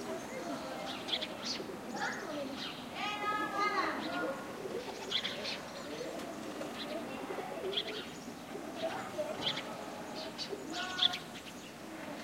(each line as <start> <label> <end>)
0.0 Kids playing in the yard 12.2
4.2 Pigeon cooings 11.2